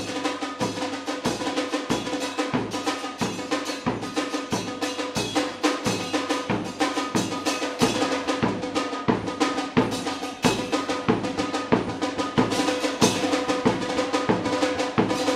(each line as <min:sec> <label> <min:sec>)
0:00.0 torcida organizada 0:15.3